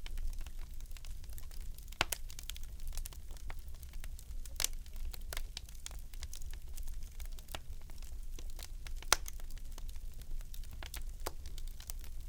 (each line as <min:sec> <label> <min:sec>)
0:00.0 furnace crackle firewood 0:12.2